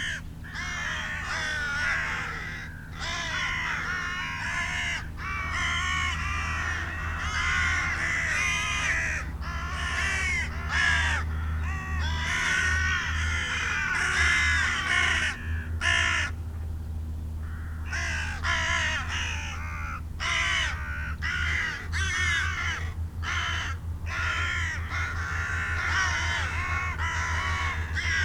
carrion crow 0:00.0 - 0:16.4
carrion crow 0:17.4 - 0:28.2

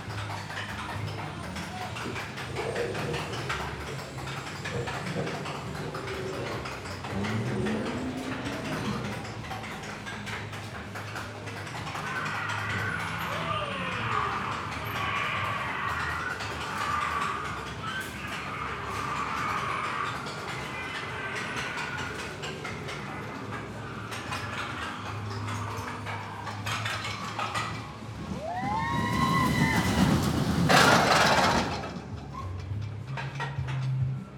Rollercoaster ride 0:00.0 - 0:34.3
Creatures to scare visitors 0:01.6 - 0:32.0

